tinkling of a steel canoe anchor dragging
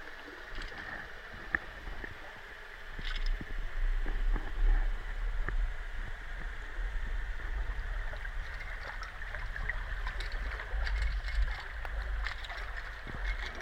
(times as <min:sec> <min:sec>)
0:08.4 0:13.6